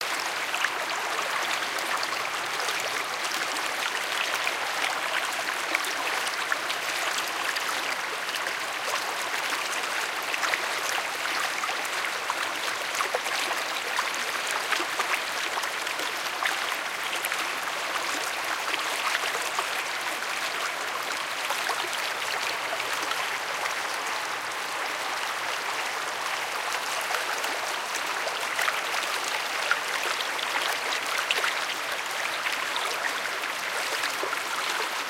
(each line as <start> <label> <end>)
0.0 quiet gentle stream of water 35.0